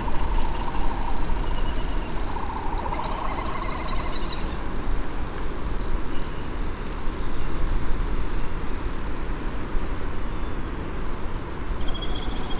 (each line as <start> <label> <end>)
0.0 black noddy 4.8
0.0 white tern 4.9
0.0 canary 5.0
0.0 Great frigate bird calls and 'song' 5.0
0.0 laysan albatross 5.3
0.0 red -tailed tropic bird 5.3
11.8 canary 12.5
11.8 red -tailed tropic bird 12.5
11.8 white tern 12.5